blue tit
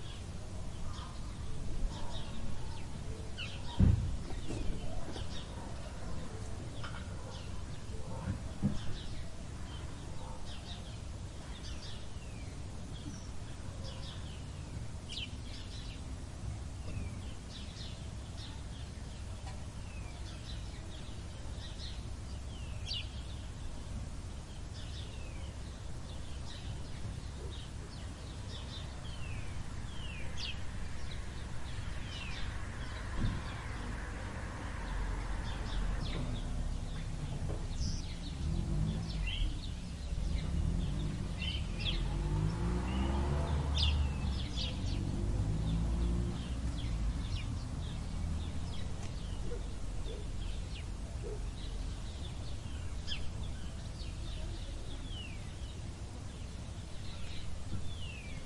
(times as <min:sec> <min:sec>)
0:35.4 0:45.1